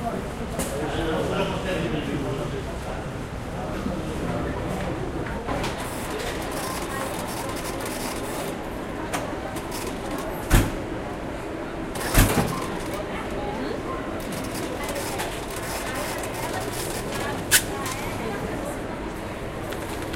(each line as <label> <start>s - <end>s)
people speaking 0.0s - 10.8s
printer 5.4s - 10.8s
cash register 5.8s - 8.5s
people speaking 11.6s - 20.1s
printer 11.9s - 18.5s
cash register 12.0s - 13.0s
cash register 14.2s - 17.4s
printer 19.2s - 20.1s
cash register 19.6s - 20.1s